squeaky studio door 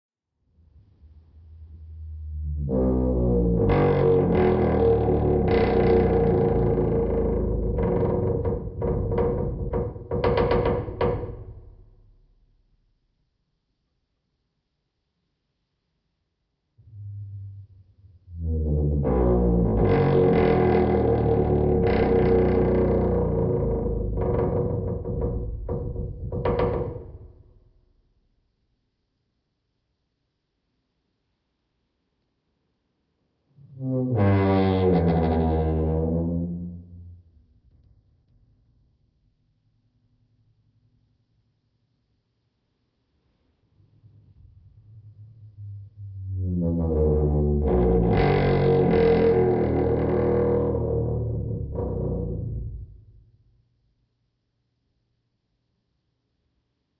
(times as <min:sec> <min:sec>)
0:02.9 0:11.5, 0:45.6 0:51.3